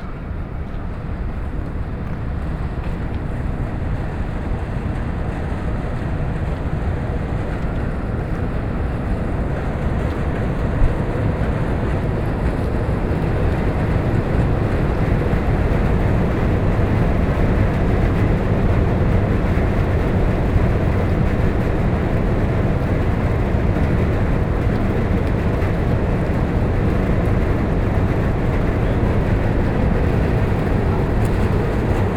0.0s air conditionning system 32.1s

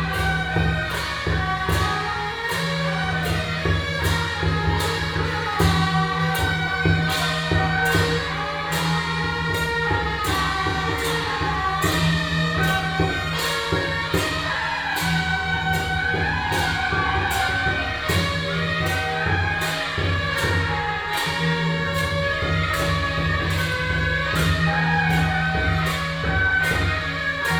0.0s Parade Formation 27.5s
0.0s firecracker 27.5s

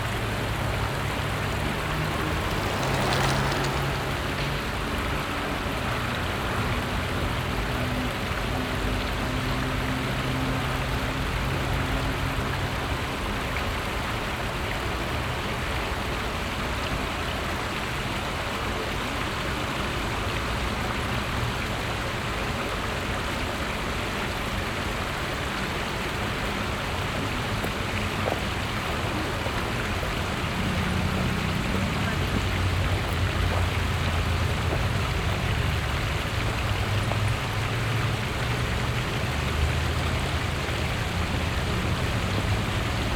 0.0s passing by strollers 4.8s
0.0s bicycle 5.2s
0.0s motor sounds from the street traffic 12.2s
0.0s water sounds from a smalll dam undernetah the bridge 43.1s
23.3s bicycle 43.1s
23.4s motor sounds from the street traffic 43.1s
24.2s passing by strollers 43.1s

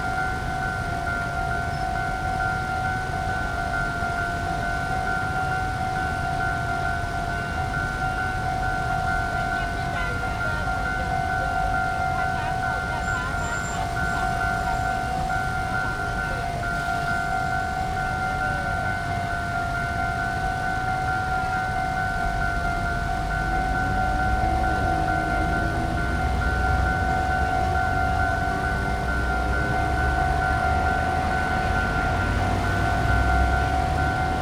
0.0s Traffic Noise 34.4s
0.0s Train traveling through 34.4s

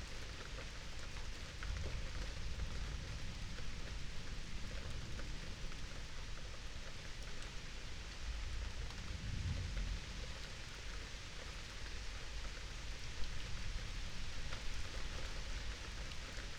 0.0s light rain 16.5s
8.4s distant thunderstorm 11.0s

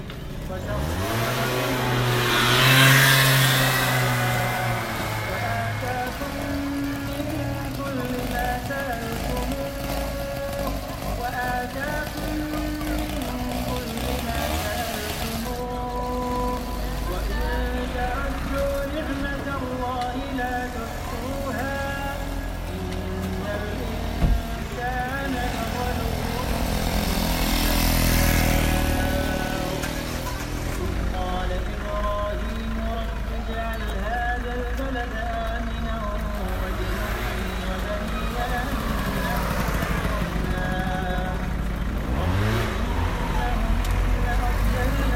0.0s busy road 45.1s

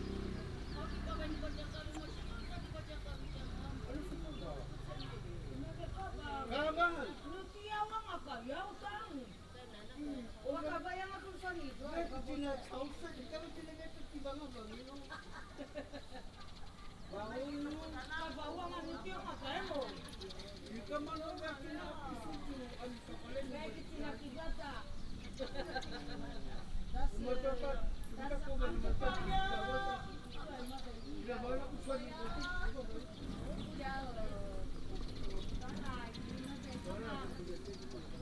0.0s Traffic sound 7.6s
0.0s Residents gather to prepare for a ride 38.2s
0.0s birds sound 38.2s
32.0s Traffic sound 38.2s

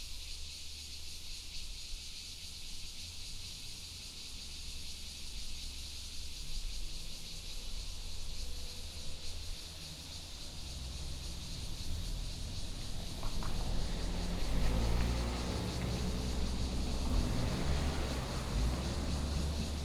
0.0s Cicada 19.8s
9.1s traffic sound 19.8s

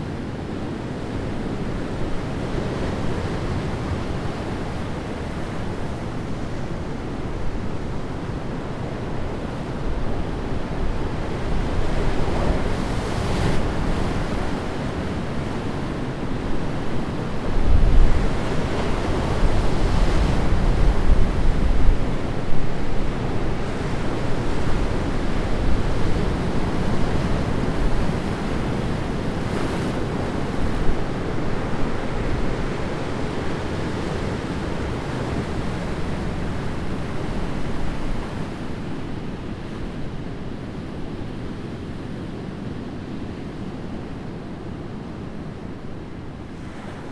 0.1s Anne river enters the sea 47.1s

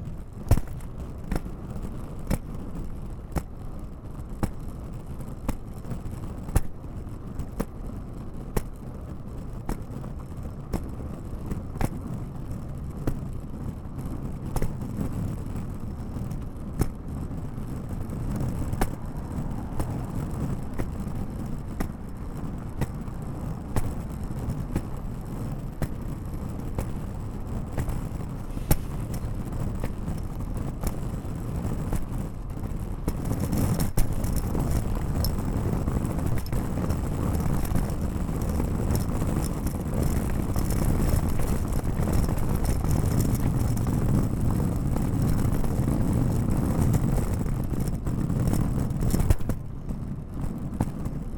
17.3s Luggage Bag Drag 49.6s

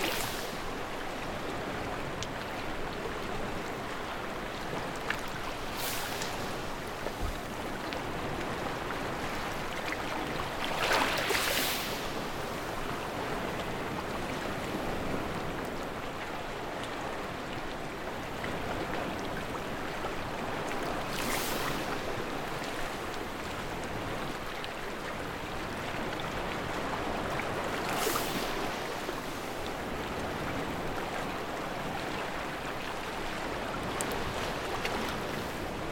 5.0s Beach Sound 8.3s

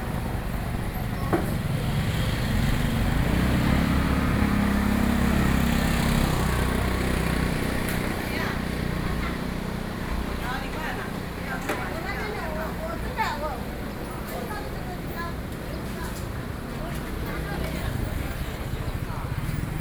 0.0s Traffic Sound 19.8s
0.0s Walking through the traditional market 19.8s

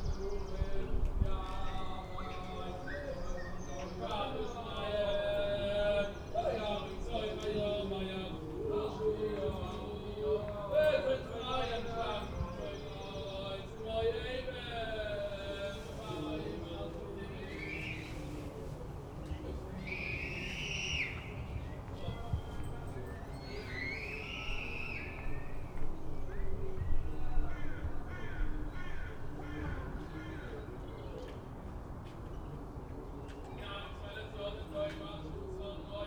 0.0s Orthodox Jews singing the liturgy 31.5s
32.8s Orthodox Jews singing the liturgy 36.0s

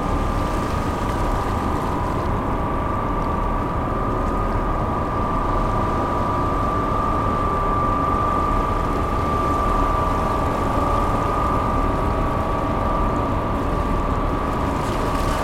0.0s Motors from the ferry 15.4s

